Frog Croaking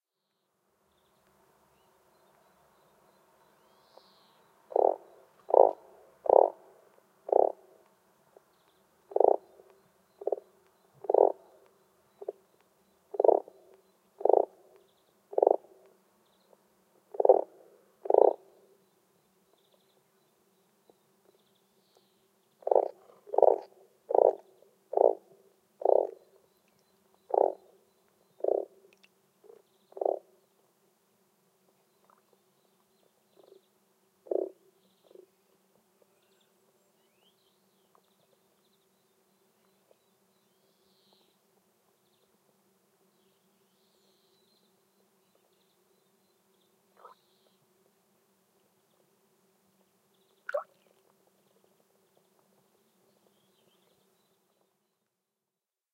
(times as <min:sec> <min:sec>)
0:04.7 0:06.6, 0:07.3 0:07.6, 0:09.1 0:09.6, 0:10.2 0:11.6, 0:13.1 0:13.6, 0:14.2 0:14.6, 0:15.3 0:15.7, 0:17.1 0:18.4, 0:22.6 0:26.2, 0:27.3 0:27.7, 0:28.4 0:28.8, 0:29.4 0:30.3, 0:34.2 0:35.2, 0:47.0 0:47.2